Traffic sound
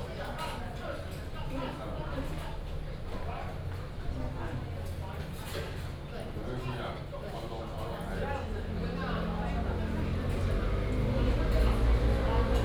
9.6 12.6

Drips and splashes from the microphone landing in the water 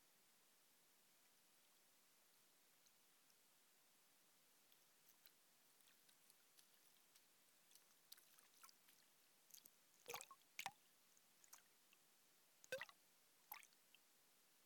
5.9 10.8, 12.7 13.8

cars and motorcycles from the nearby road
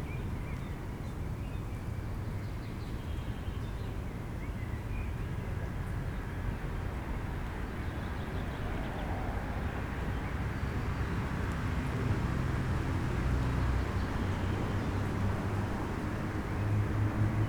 6.4 17.4

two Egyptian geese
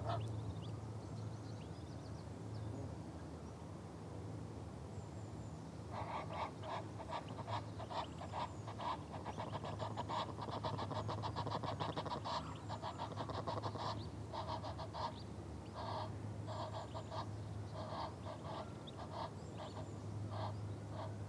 0.0 0.4, 5.9 21.2

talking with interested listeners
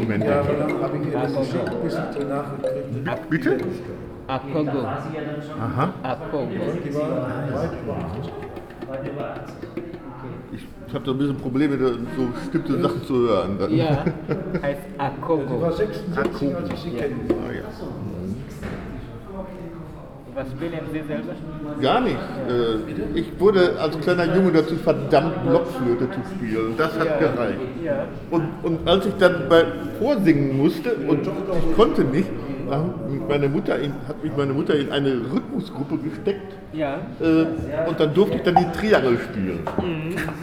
0.0 18.2, 38.2 40.2

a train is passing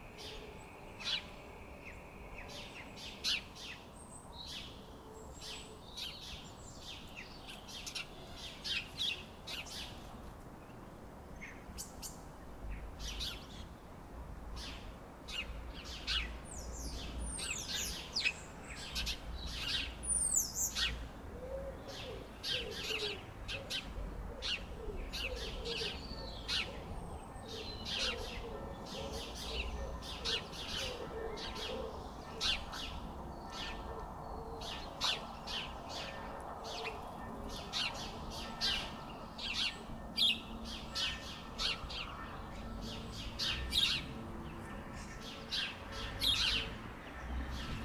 35.2 47.8

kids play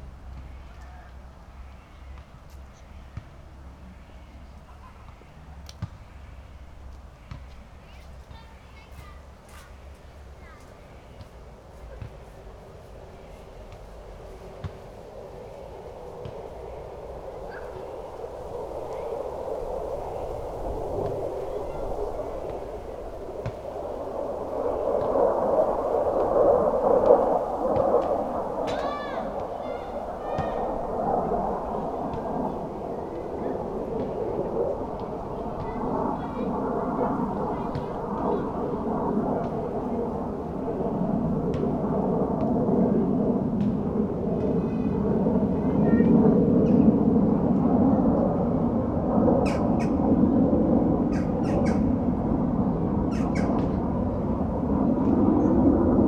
6.9 14.9, 16.1 23.6, 27.2 43.8, 44.4 48.5

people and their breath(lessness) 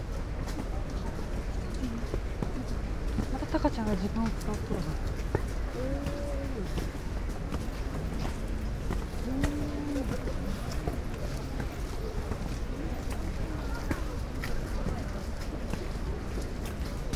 4.2 17.1

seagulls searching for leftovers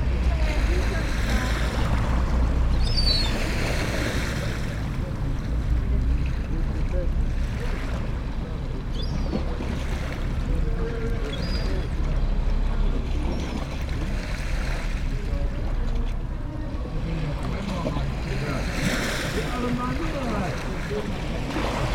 2.7 3.9

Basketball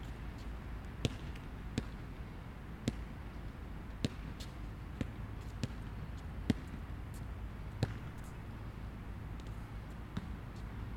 1.0 2.0, 2.8 3.1, 4.0 6.8, 7.7 8.4, 9.4 10.4

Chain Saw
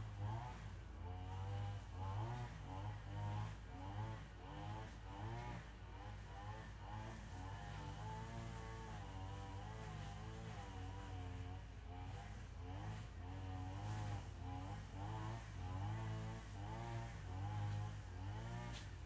12.7 18.9

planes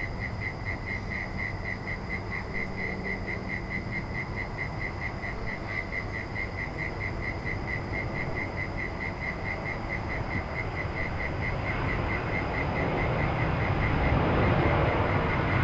7.0 15.6

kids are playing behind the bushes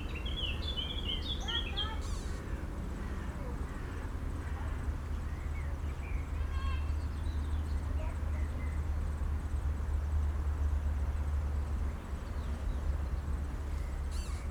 0.0 8.7

